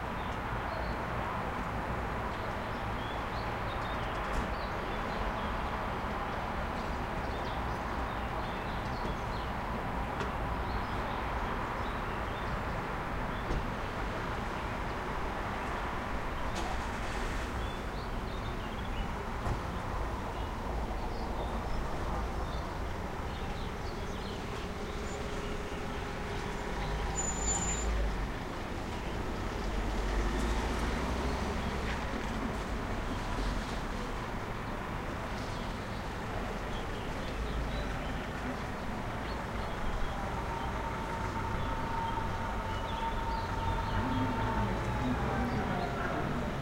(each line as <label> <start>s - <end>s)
trains 24.4s - 29.4s